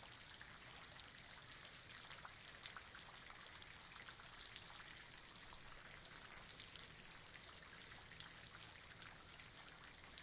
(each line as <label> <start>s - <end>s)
Rain 0.0s - 10.2s